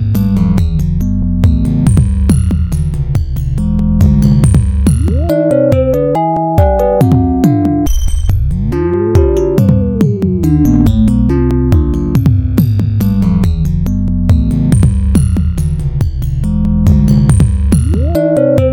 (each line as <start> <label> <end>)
4.8 Vibed 12.2
4.9 Triple Oscillator 11.6
17.7 Vibed 18.7
17.7 Triple Oscillator 18.7